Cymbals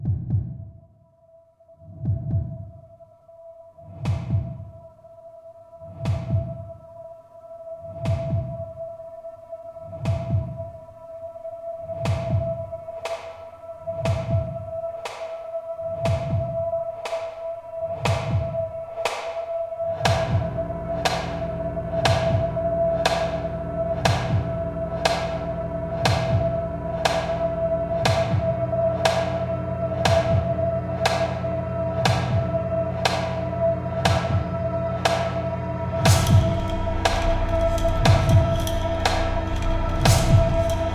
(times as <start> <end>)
35.1 40.9